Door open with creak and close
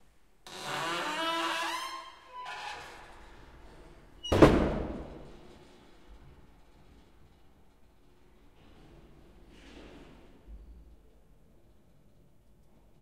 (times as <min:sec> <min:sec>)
0:00.4 0:10.1